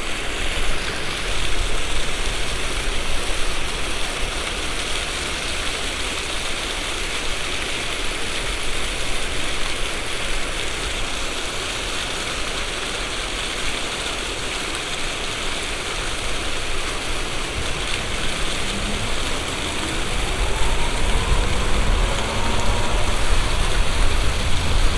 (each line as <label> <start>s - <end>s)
fountain 0.0s - 24.9s